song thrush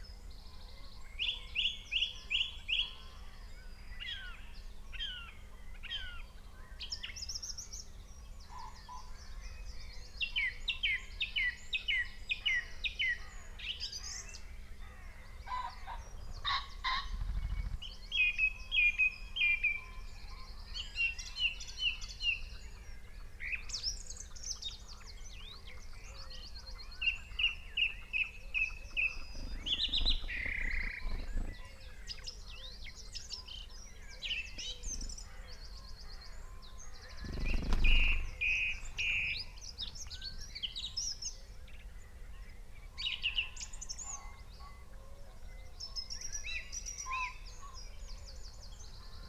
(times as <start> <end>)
23.5 44.2